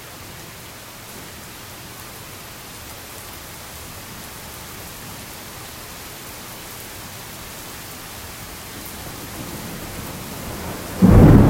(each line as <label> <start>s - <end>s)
heavy rain 0.0s - 11.4s
loud thunder 9.1s - 11.4s